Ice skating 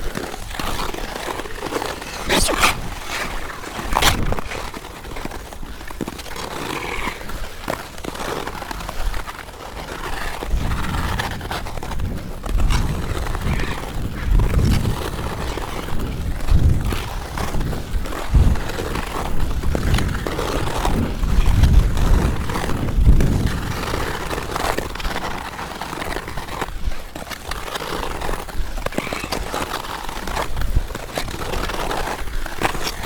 0.2 7.0

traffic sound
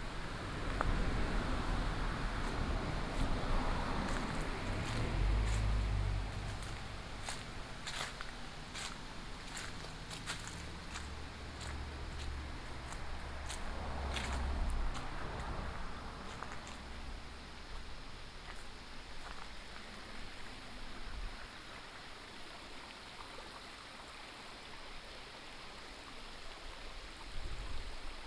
0.0 21.2

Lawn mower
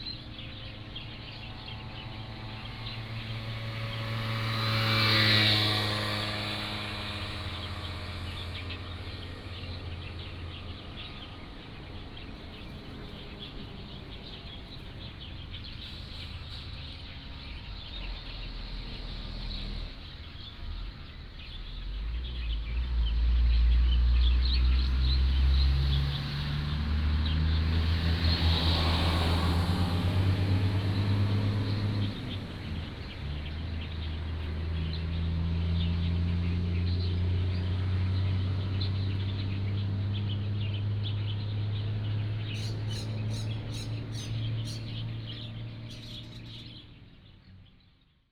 1.3 10.6

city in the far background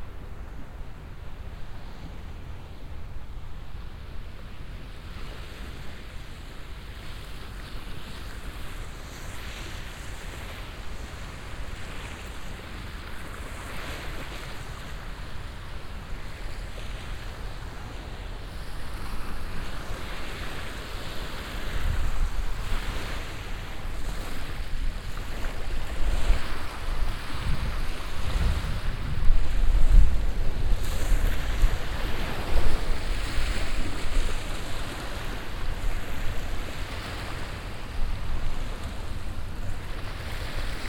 0.0 25.9

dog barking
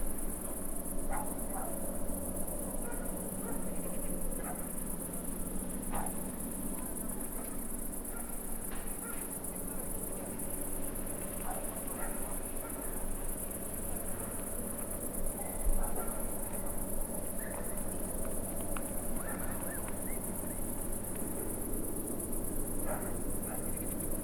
1.1 1.8, 2.8 3.6, 4.4 4.6, 8.1 8.4, 9.0 9.2, 11.4 12.8, 15.8 16.3, 19.2 19.8, 22.9 23.8

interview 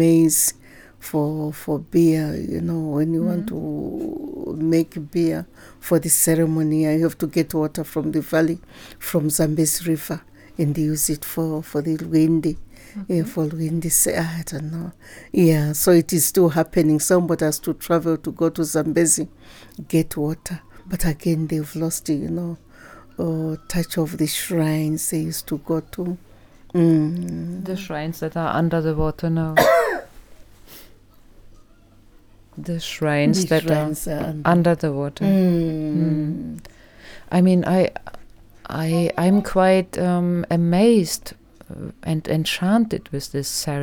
1.3 22.6, 32.6 36.6

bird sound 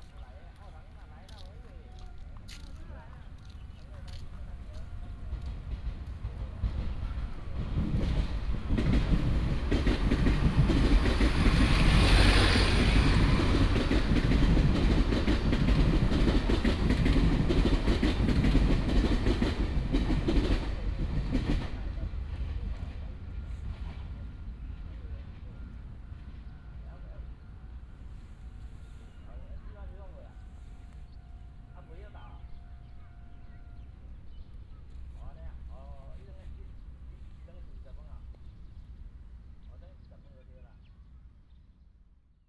30.7 35.3

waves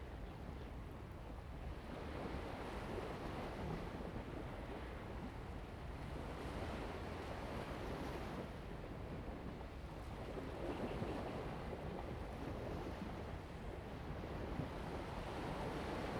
9.4 16.1

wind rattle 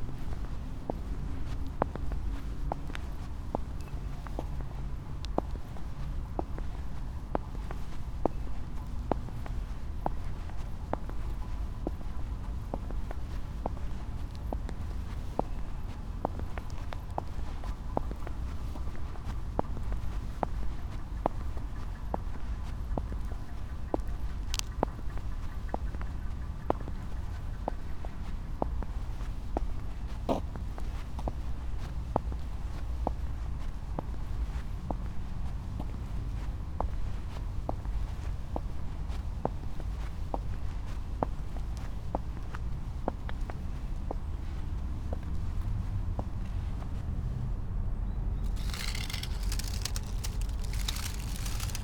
48.4 51.8

